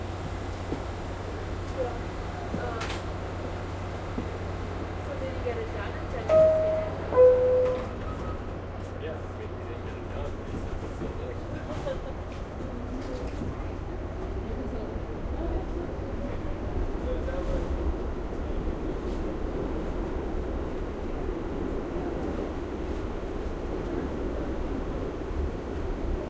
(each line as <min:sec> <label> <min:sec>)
0:01.0 Subway operator announcement 0:17.8
0:06.0 Subway Doors Closing 0:09.0
0:06.3 door signal 0:08.4